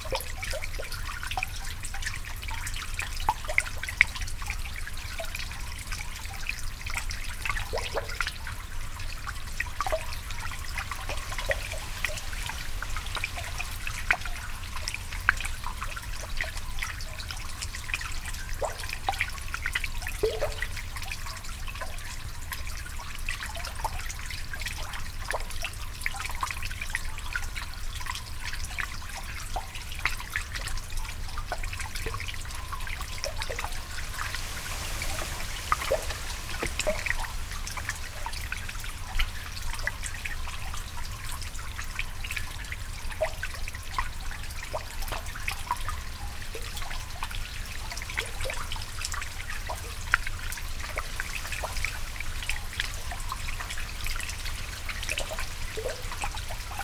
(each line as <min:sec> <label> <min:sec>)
0:05.1 water on one side easing over the barrier 0:19.5
0:10.2 Melodic drips with reeds above and below water 0:15.4
0:30.7 water on one side easing over the barrier 0:56.8
0:32.7 Melodic drips with reeds above and below water 0:41.0